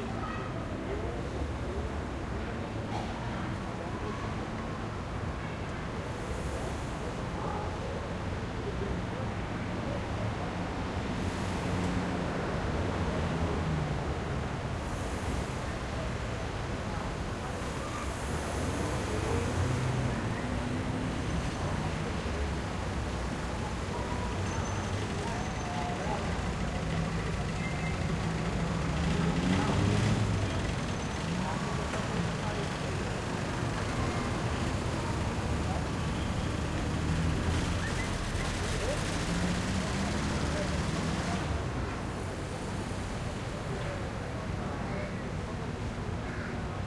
0.0s people talking 6.0s
0.0s Medium traffic 46.8s
15.6s people talking 46.8s

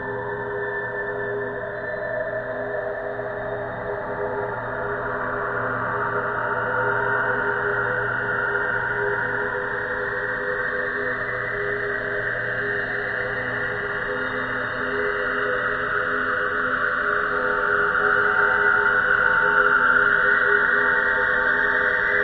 0.0s slowly evolving ambient drone pad 22.2s

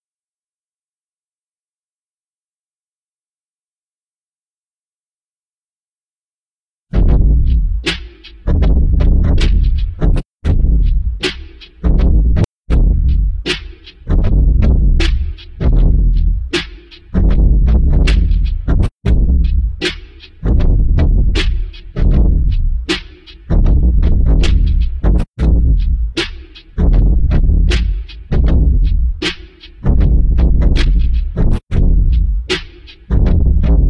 6.9s drum 33.8s

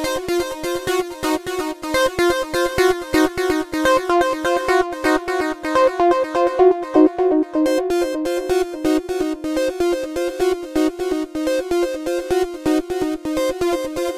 4.2s synth 10.8s

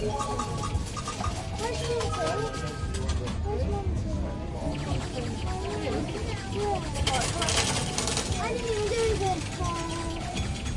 0.0s arcade coins falling 3.2s
5.7s arcade coins falling 10.7s

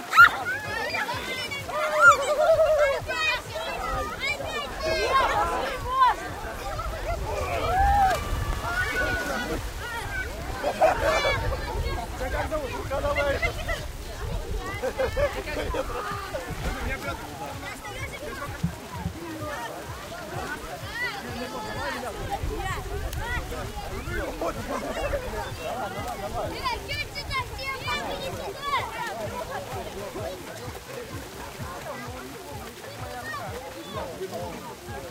0.0s gurgling 12.2s
0.0s water splashes 35.1s

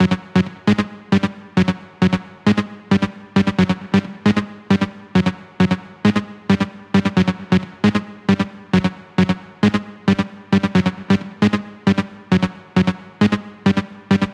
0.0s synth 14.3s

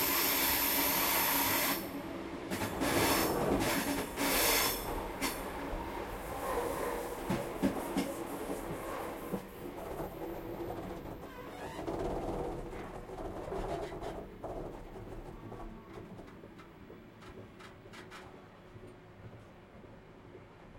0.0s train 20.7s

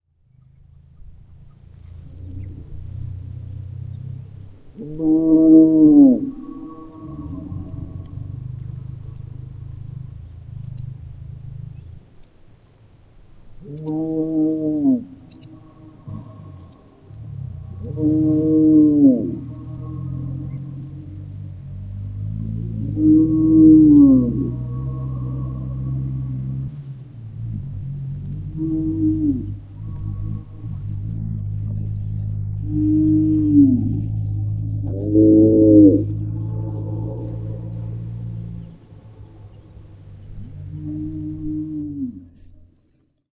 0.1s car 13.6s
2.2s CowEcho 11.8s
6.2s bird 11.0s
13.7s bird 14.1s
13.7s CowEcho 26.8s
15.0s car 43.3s
15.1s bird 21.0s
28.3s CowEcho 42.6s

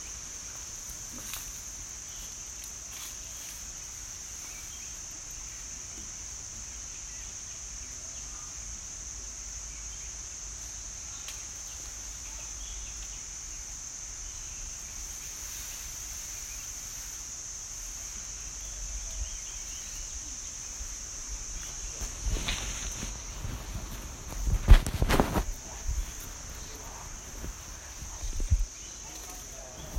0.0s insects 29.9s
10.0s distant rustling leaves 29.9s
18.1s birds 29.9s

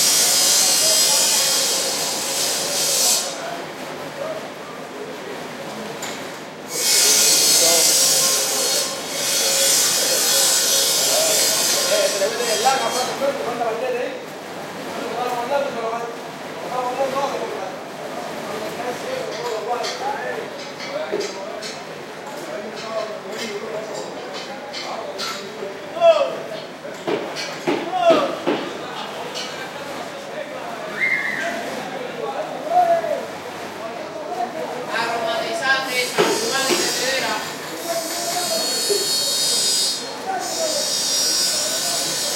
0.0s bandsaw heard frequently, resonating off buildings 3.5s
0.0s men working 42.3s
6.7s bandsaw heard frequently, resonating off buildings 13.4s
35.9s bandsaw heard frequently, resonating off buildings 42.3s

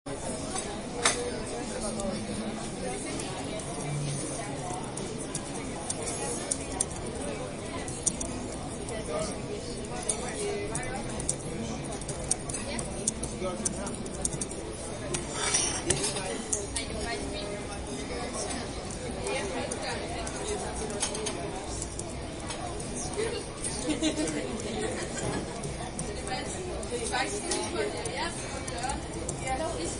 0.1s chatter 29.9s

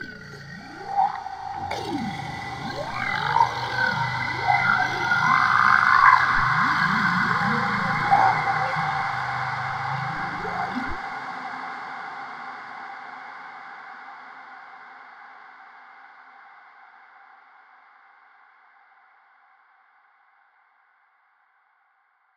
0.0s Creature Monster Alien Vocal 12.3s

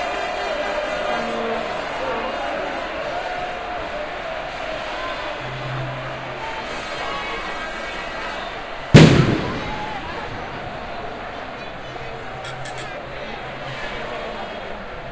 0.0s crowd 15.1s
8.9s fireworks 10.4s

